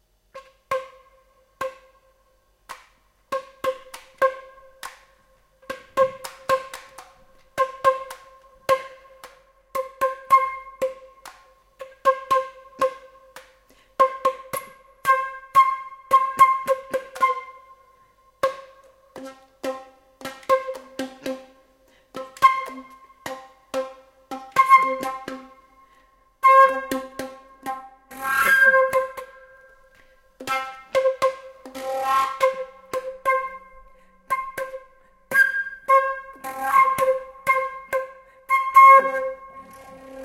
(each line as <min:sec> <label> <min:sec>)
0:07.6 Flute improvising with the note C 0:09.1
0:14.0 Flute improvising with the note C 0:17.8
0:22.4 Flute improvising with the note C 0:23.1
0:24.5 Flute improvising with the note C 0:25.5
0:26.4 Flute improvising with the note C 0:29.8
0:30.4 Flute improvising with the note C 0:40.2